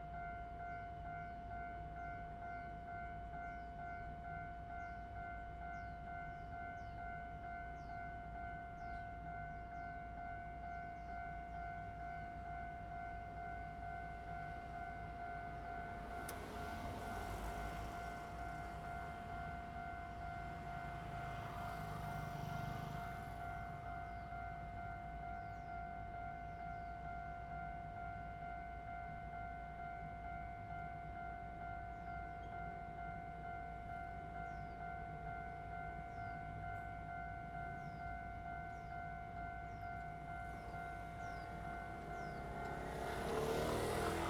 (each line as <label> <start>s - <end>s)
Railroad Crossing 0.0s - 44.2s
train runs through 0.0s - 44.2s
traffic sound 13.2s - 27.5s
traffic sound 28.3s - 44.2s